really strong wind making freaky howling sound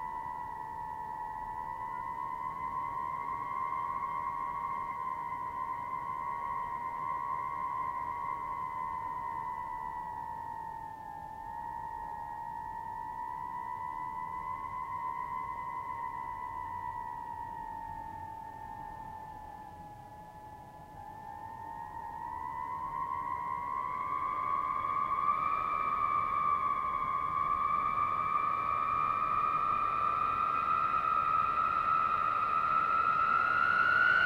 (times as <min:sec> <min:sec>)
0:21.7 0:34.2